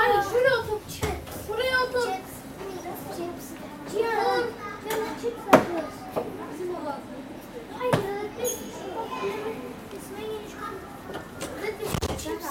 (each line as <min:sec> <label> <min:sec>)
0:00.0 Subway ride 0:12.5